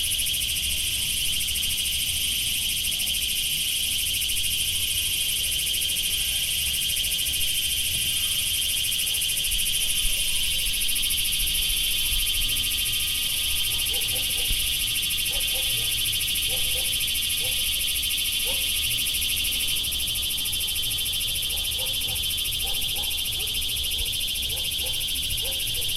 0.0s intense cicada 25.9s
21.5s barking 23.6s
24.5s barking 25.9s

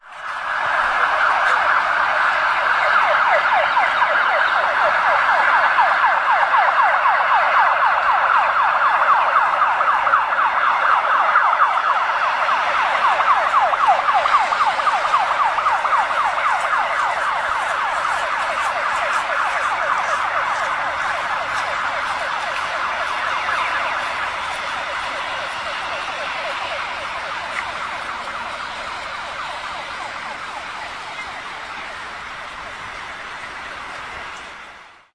0.0s traffic noise 35.1s
0.1s ambulance signal 34.4s

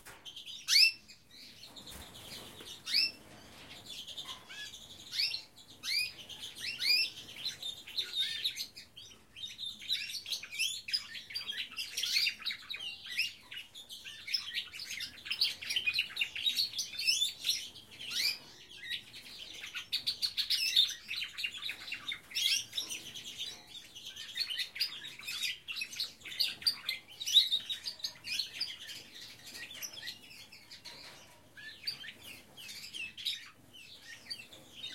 0.0s birds in a cage 34.9s

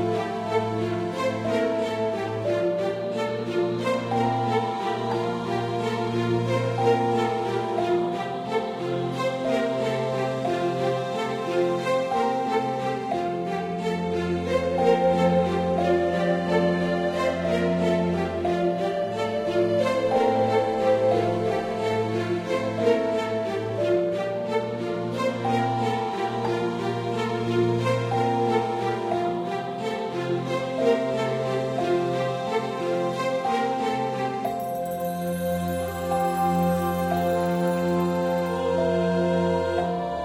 0.0s choir 40.2s
0.0s flute 40.2s

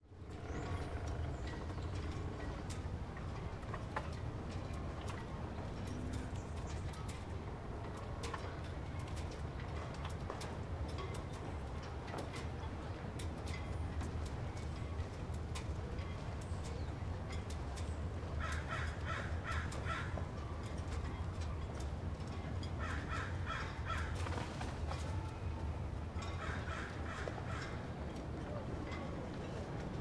0.0s boats at the dock 30.0s
19.8s sails/flags flapping 26.4s

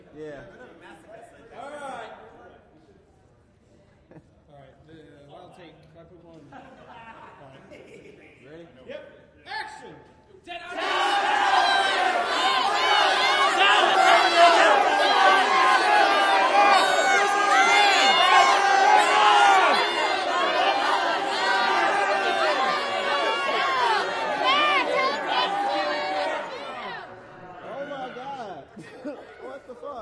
10.5s Riot Crowd 29.0s

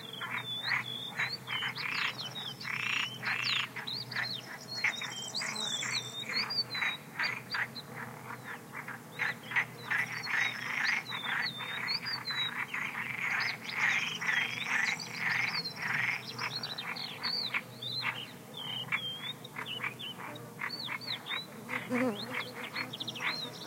0.0s crested larks 23.6s
0.0s insects 23.6s
0.2s coots 23.6s
6.8s frog croaks 18.2s

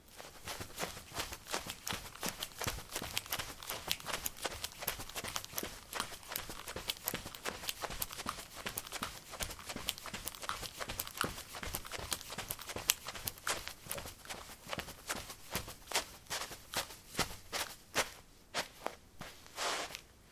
0.0s footsteps 20.1s

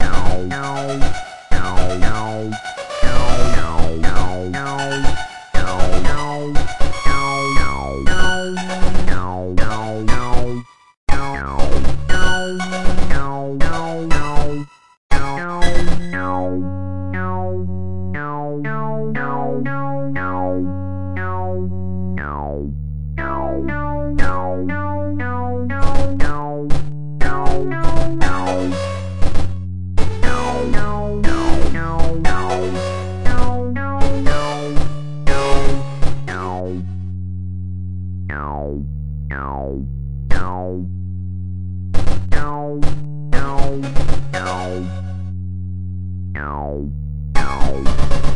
0.0s music 37.1s
42.6s music 45.4s
47.4s music 48.3s

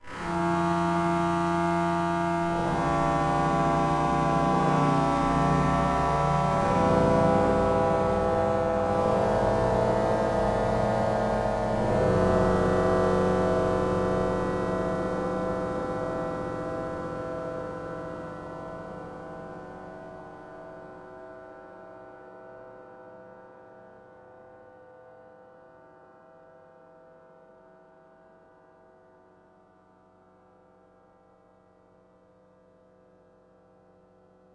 0.0s software synthesizer 20.5s

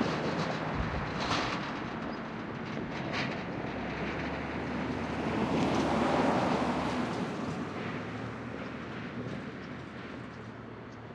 3.9s Cars Passing 10.2s

